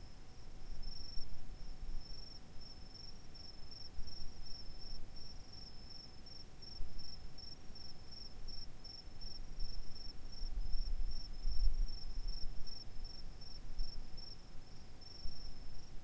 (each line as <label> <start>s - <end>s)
distant crickets chirping 0.3s - 15.9s